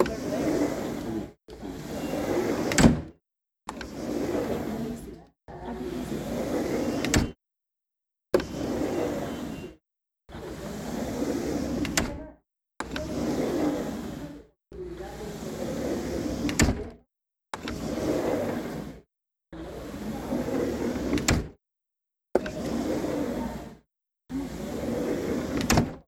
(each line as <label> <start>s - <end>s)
fiberglass patio door opening and closing 0.0s - 7.4s
fiberglass patio door opening and closing 8.4s - 9.8s
fiberglass patio door opening and closing 10.4s - 12.2s
fiberglass patio door opening and closing 12.8s - 14.4s
fiberglass patio door opening and closing 15.0s - 17.0s
fiberglass patio door opening and closing 17.6s - 19.0s
fiberglass patio door opening and closing 19.6s - 21.6s
fiberglass patio door opening and closing 22.4s - 23.8s
fiberglass patio door opening and closing 24.4s - 26.0s